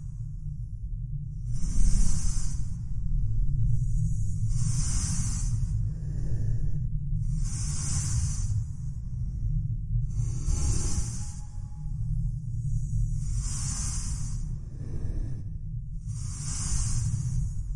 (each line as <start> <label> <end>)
4.5 breathing effects 12.0
12.8 breathing effects 17.7